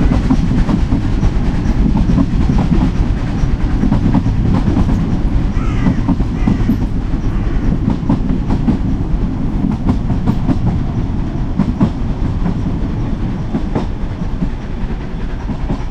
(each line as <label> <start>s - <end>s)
narrow gauge steam train starting off uphill 0.0s - 15.9s
crow 5.6s - 7.7s